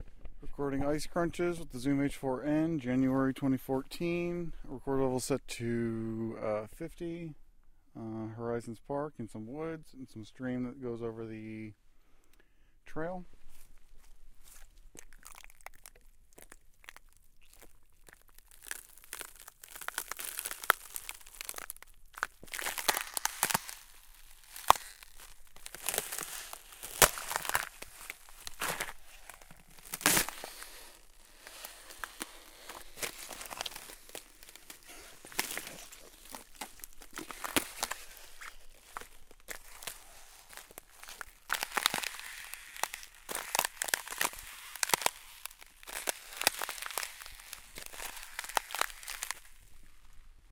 13.4s breaking frozen/mostly frozen ice puddles with my foot 50.5s

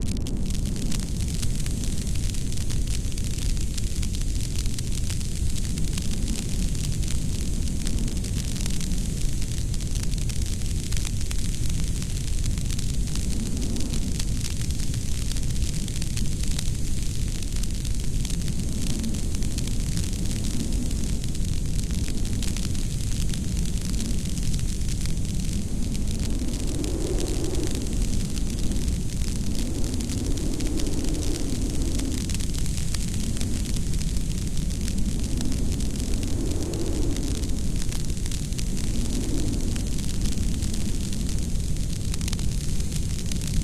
0.0s crackling sounds 43.6s
0.0s rumbling 43.6s
0.0s wind 43.6s

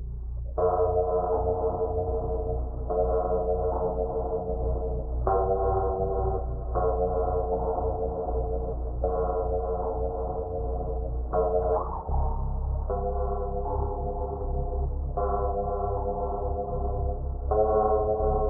0.6s electric guitar 18.4s

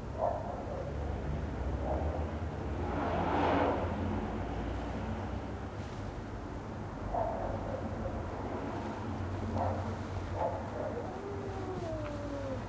0.6s Cars passing 12.6s
10.6s Two cats arguing, then fighting 12.6s

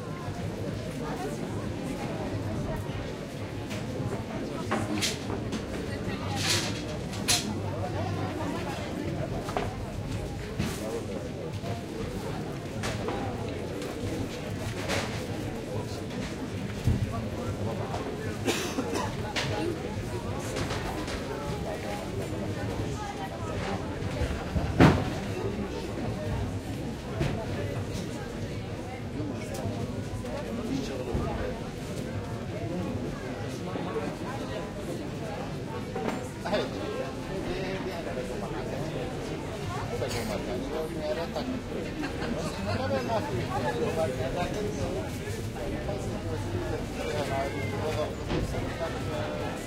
16.5s people are having a drink outside 20.5s
21.4s people are having a drink outside 49.6s

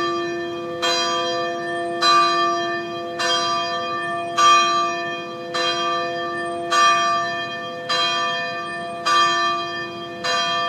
0.0s bells 10.6s

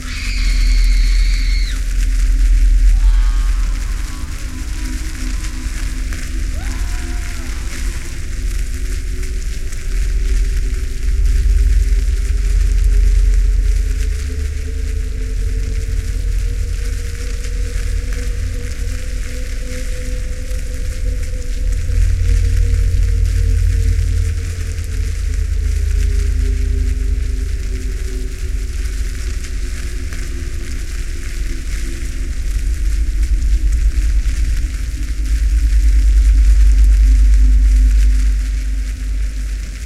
0.0s fire 39.8s
0.0s water 39.8s
0.0s wind 39.8s

